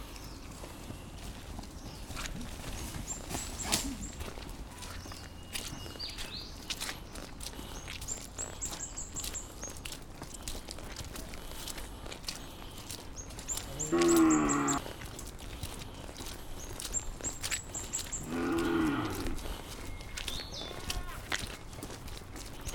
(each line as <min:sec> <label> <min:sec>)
0:00.0 farmers 0:22.7
0:06.8 cows 0:22.7